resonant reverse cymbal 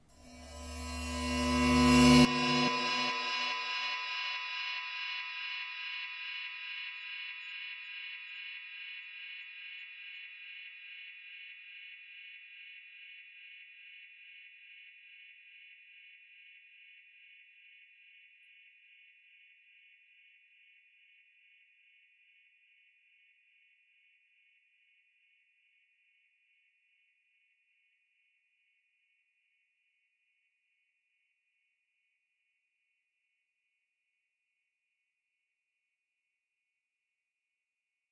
0.2s 9.3s

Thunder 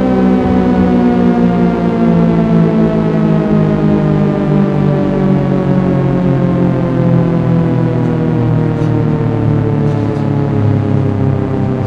0.3s 4.3s

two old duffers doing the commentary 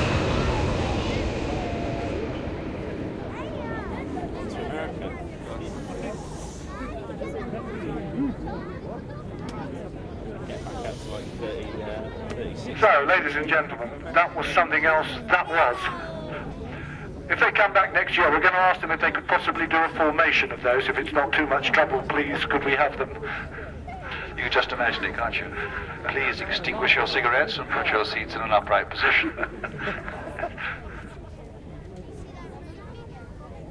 12.3s 16.0s, 17.3s 23.5s, 24.1s 29.4s

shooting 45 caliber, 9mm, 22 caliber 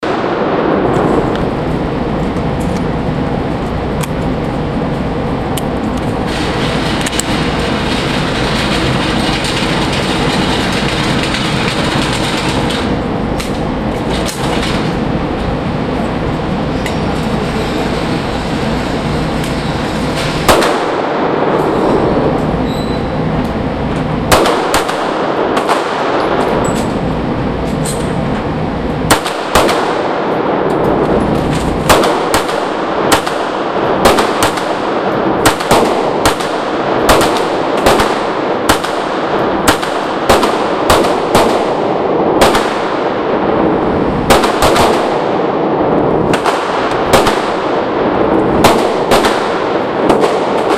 20.0s 22.2s, 24.3s 28.2s, 29.0s 50.7s

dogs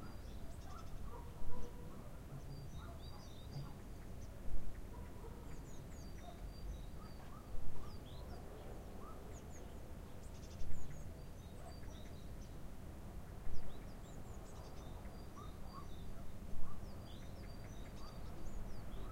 0.0s 3.8s, 4.8s 9.5s, 15.4s 16.9s

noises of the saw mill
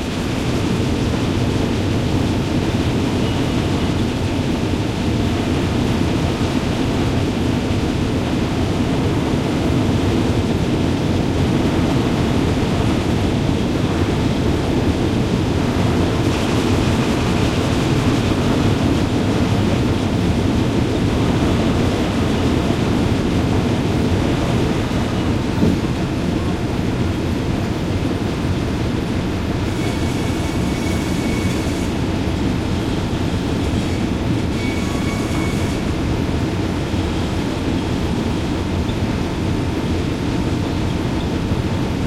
28.4s 42.0s

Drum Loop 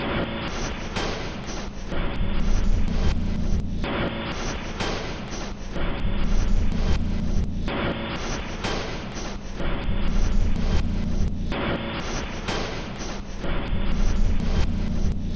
2.6s 3.8s, 6.3s 7.7s, 10.1s 11.6s, 14.0s 15.3s

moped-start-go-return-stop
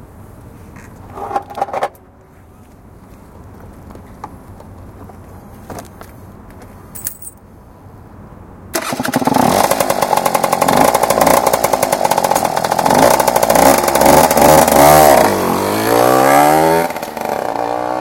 8.8s 14.8s

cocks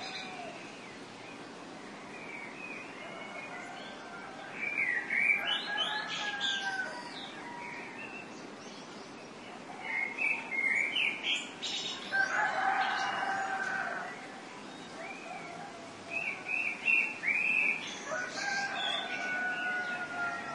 5.6s 7.9s, 12.1s 14.4s, 18.1s 20.5s

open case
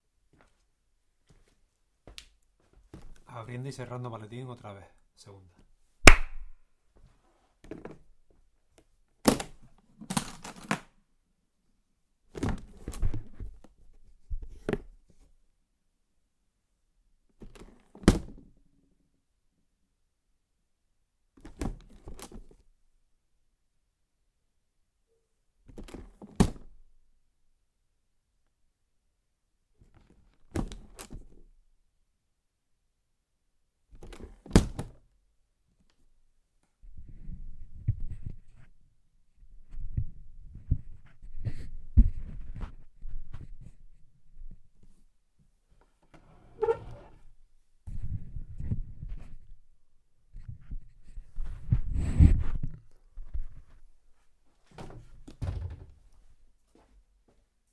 9.3s 10.9s

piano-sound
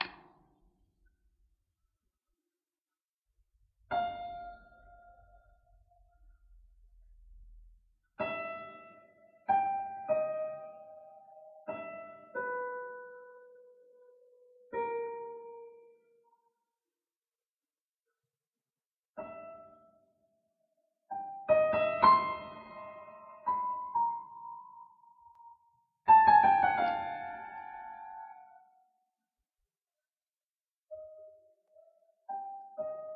0.0s 0.4s, 3.6s 16.5s, 19.2s 20.5s, 21.1s 29.1s, 30.9s 33.1s

